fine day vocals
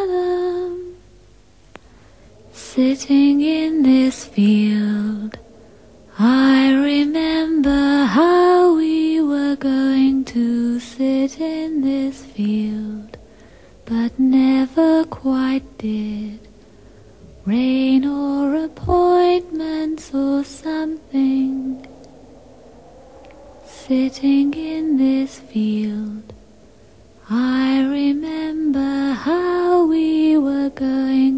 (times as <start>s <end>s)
17.4s 26.5s